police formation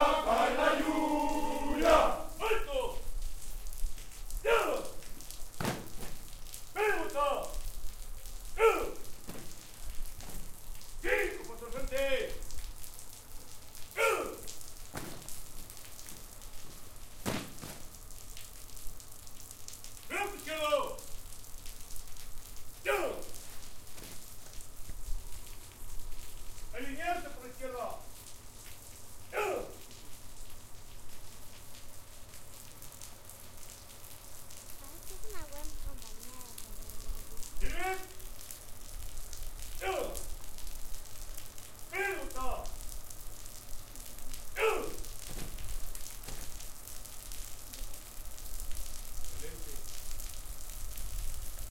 0:00.0 0:03.1, 0:04.4 0:05.0, 0:06.7 0:07.6, 0:08.6 0:09.5, 0:11.0 0:12.5, 0:13.9 0:14.5, 0:20.1 0:21.1, 0:22.8 0:23.4, 0:26.7 0:28.1, 0:29.3 0:29.8, 0:37.6 0:38.2, 0:39.8 0:40.3, 0:41.9 0:42.8, 0:44.6 0:45.0

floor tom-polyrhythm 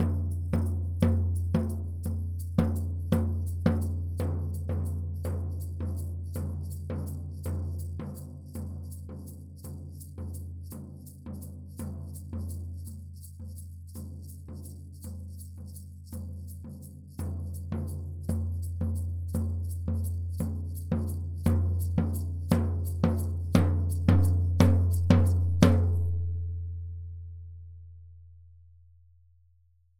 0:17.7 0:26.3

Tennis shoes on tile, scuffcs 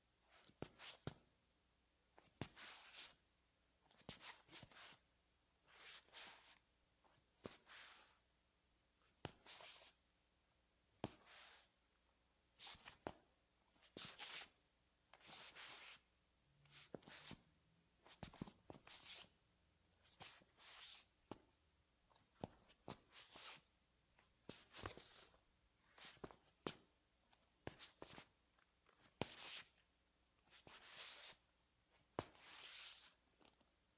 0:32.2 0:33.2

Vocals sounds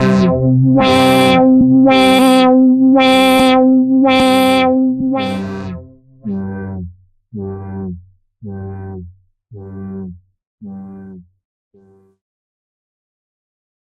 0:00.0 0:05.6

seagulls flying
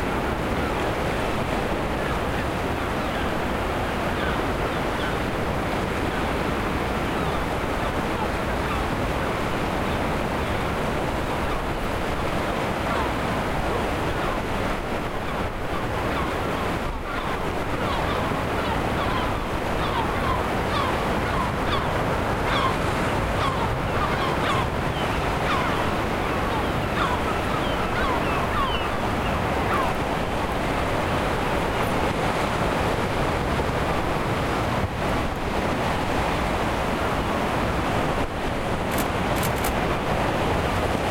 0:15.3 0:30.0

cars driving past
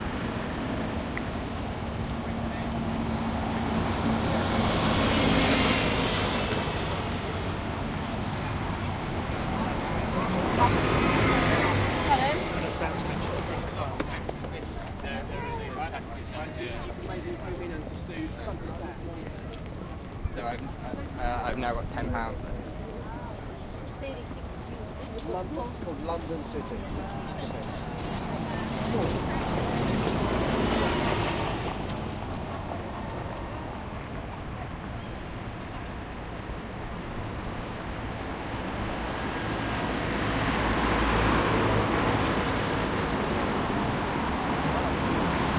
0:00.0 0:16.0, 0:25.2 0:45.5

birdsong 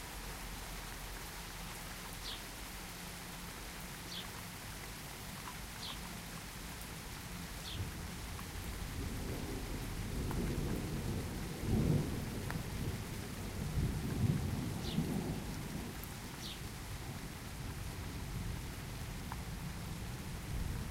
0:05.8 0:06.0, 0:16.4 0:16.6

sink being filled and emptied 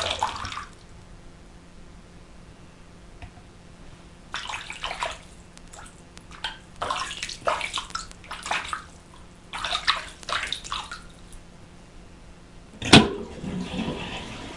0:00.0 0:00.7

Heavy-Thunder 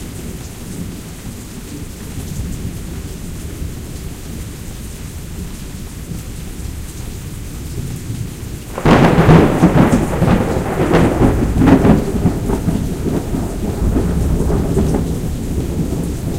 0:08.2 0:16.3

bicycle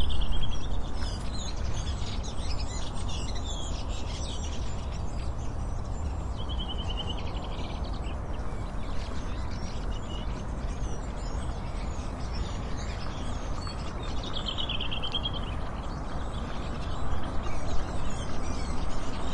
0:00.0 0:06.4

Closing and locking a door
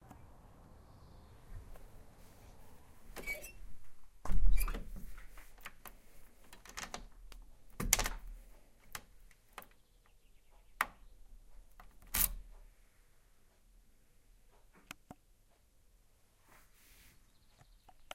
0:04.2 0:05.8, 0:06.5 0:07.1, 0:07.7 0:08.4, 0:11.8 0:12.4

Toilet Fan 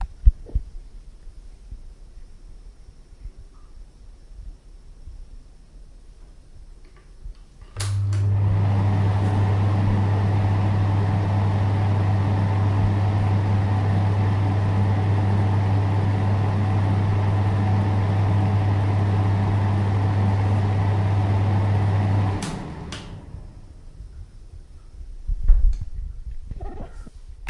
0:06.1 0:27.4

